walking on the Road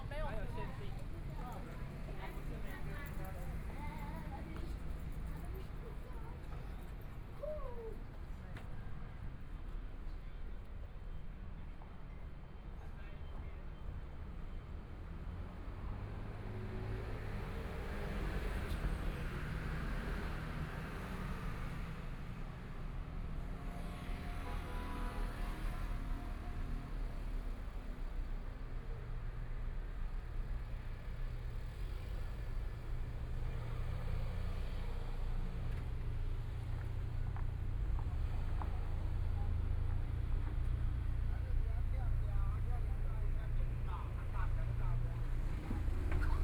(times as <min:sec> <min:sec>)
0:23.4 0:46.4